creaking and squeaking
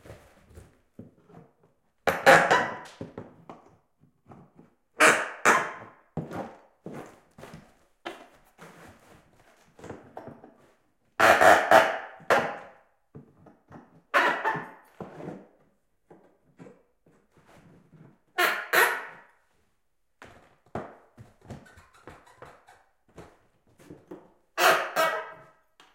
0:21.2 0:23.4

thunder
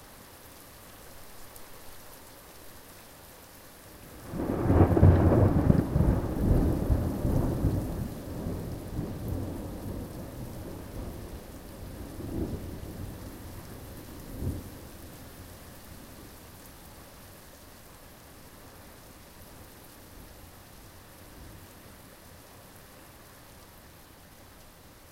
0:04.2 0:11.2

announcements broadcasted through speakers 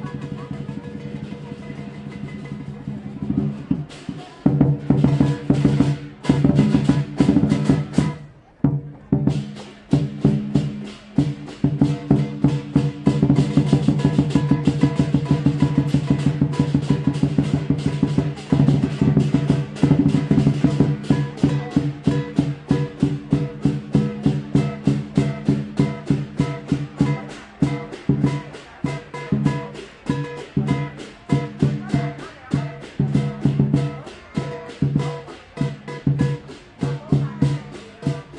0:19.4 0:38.3

